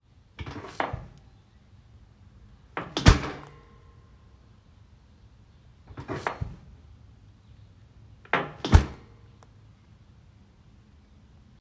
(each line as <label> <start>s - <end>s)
Trash Can Open & Close 0.4s - 1.2s
Trash Can Open & Close 2.8s - 3.6s
Trash Can Open & Close 5.9s - 6.7s
Trash Can Open & Close 8.3s - 9.1s